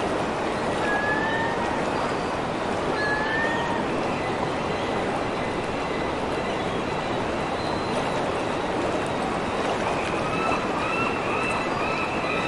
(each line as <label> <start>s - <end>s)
Seagulls 9.9s - 12.4s